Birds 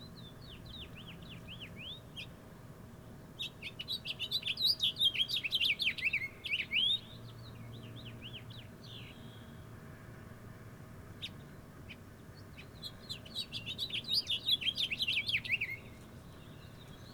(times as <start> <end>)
11.1 17.1